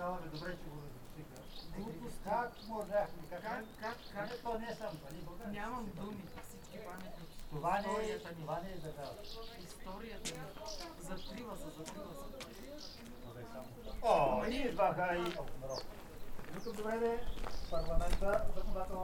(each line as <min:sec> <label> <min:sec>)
0:00.0 voices of visitors and the policeman 0:19.0
0:00.0 workers who paint a hiking trail pass by 0:19.0